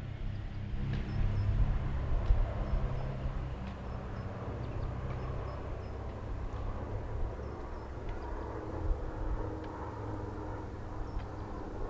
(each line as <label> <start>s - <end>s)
car 0.0s - 6.8s
motorcycle 0.0s - 8.2s
Birds 0.0s - 8.9s
airplane 0.0s - 11.8s
Birds 10.6s - 11.8s